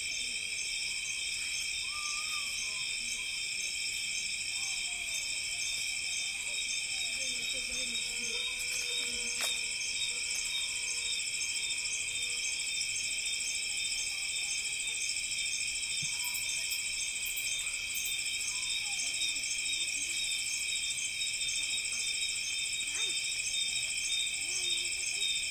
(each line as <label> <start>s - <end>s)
crickets 0.0s - 25.5s